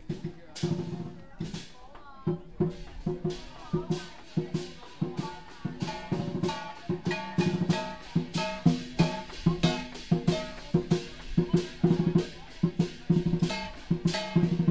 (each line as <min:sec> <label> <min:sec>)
0:00.0 Chinese dragon dancing 0:14.7
0:00.0 drums 0:14.7
0:00.0 people are following it 0:14.7